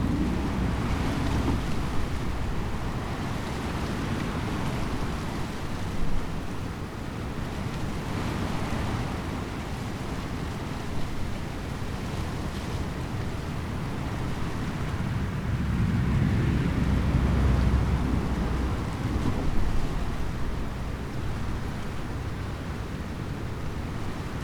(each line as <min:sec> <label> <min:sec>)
0:00.0 wind blown elder tree 0:07.1
0:10.8 wind blown elder tree 0:24.4